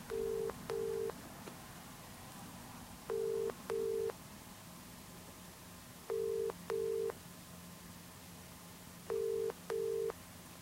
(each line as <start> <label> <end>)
3.1 ringback tone 4.1
6.1 ringback tone 7.2
9.1 ringback tone 10.1